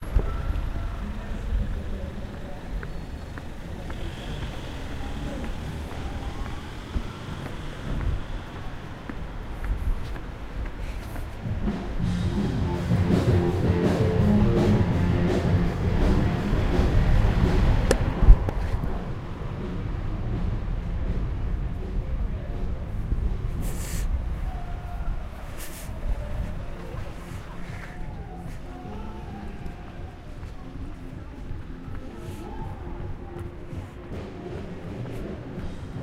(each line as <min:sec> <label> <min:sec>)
0:11.6 loud band playing in pub 0:18.2